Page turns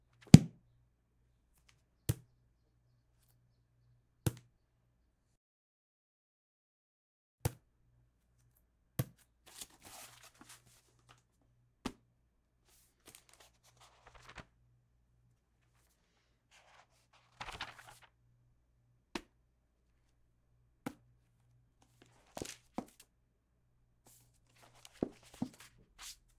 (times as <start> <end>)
9.5 11.2, 12.7 14.5, 15.8 18.1, 21.9 23.0, 24.1 26.3